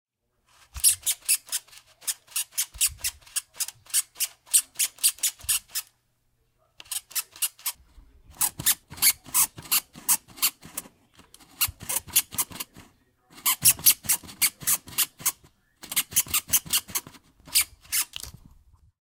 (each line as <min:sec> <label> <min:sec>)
0:00.8 very tiny squeak sound 0:05.9
0:13.3 very tiny squeak sound 0:18.2